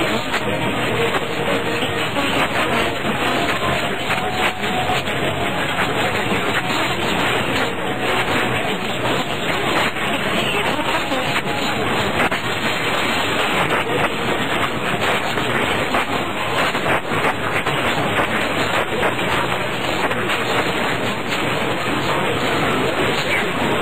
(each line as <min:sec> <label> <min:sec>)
0:00.0 AM band recording of a mix-up of different stations 0:23.8